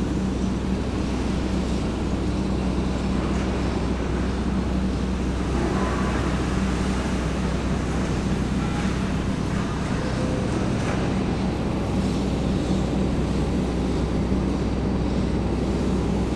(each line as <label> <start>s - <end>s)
worker moving an enormous overhead crane 0.0s - 16.3s